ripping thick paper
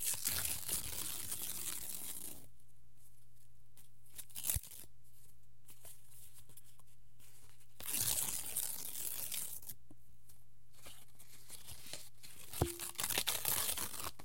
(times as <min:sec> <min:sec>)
0:12.4 0:14.2